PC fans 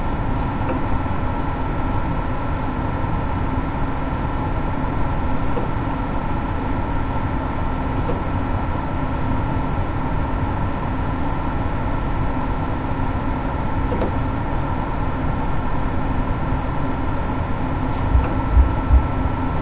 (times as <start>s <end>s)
11.7s 19.6s